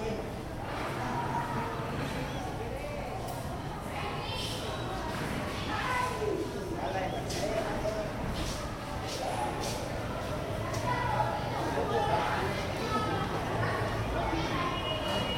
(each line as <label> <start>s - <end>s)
Students 0.0s - 15.3s